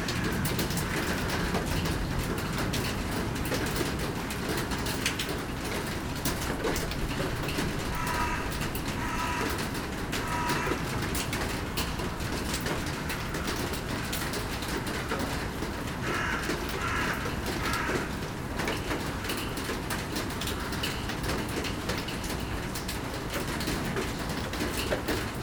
0.0s rain is falling 25.4s
7.9s crows are calling and shouting 11.0s
16.0s crows are calling and shouting 18.2s

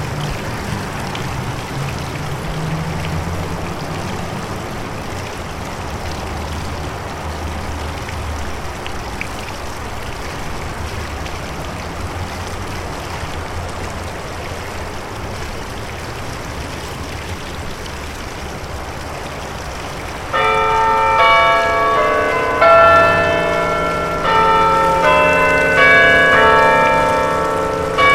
0.0s Other traffic travels the road, still wet 28.1s
0.0s small bubbling waterfall 28.1s
20.3s Clock Bells 28.1s

